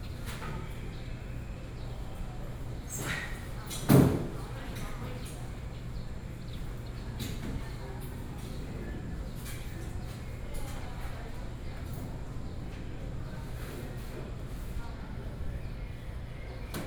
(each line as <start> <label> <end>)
0.0 Birds sound 3.9
14.4 Birds sound 16.8